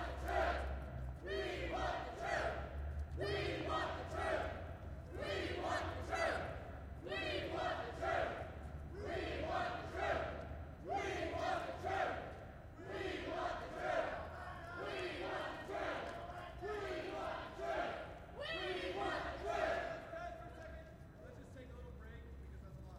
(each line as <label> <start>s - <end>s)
Crowd 0.0s - 22.9s